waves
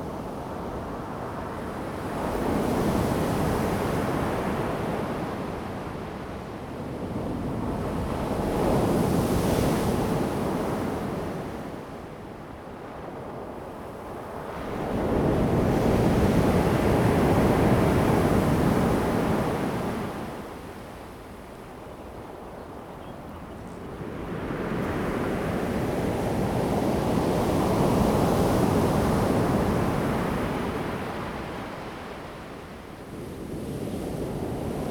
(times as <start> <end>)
14.2 34.9